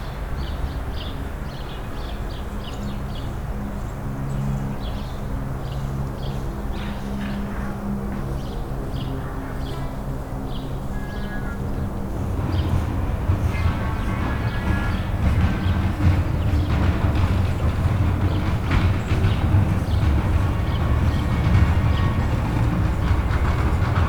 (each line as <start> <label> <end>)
10.2 Straßenbahn 24.0